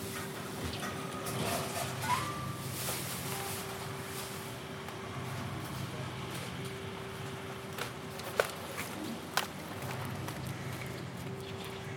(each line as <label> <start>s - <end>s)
Recycling sounds 0.1s - 4.6s